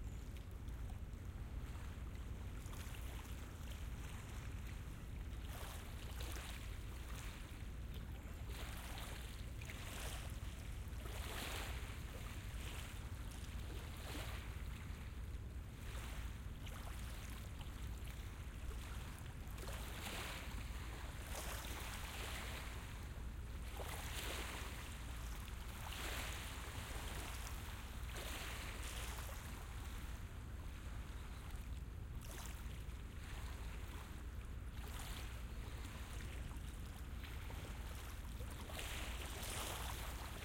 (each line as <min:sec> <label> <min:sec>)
0:00.3 River Waves 0:40.4